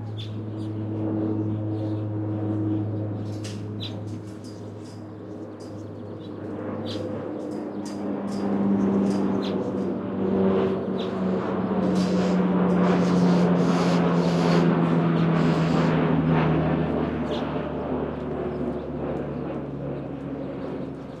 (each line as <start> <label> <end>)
0.0 birds 14.6
17.1 birds 21.2